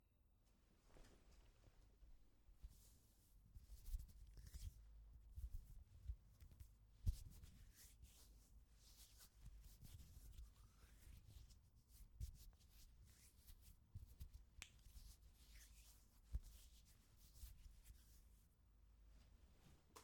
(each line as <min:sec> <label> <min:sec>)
0:12.7 hands rubbing together 0:18.3